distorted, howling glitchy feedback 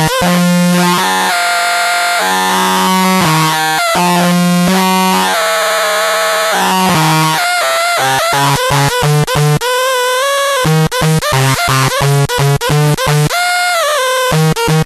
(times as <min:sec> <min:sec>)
0:00.0 0:08.9